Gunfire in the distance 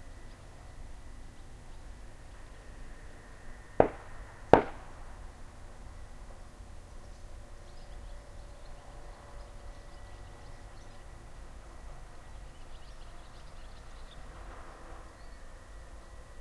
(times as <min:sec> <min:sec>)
0:03.8 0:05.2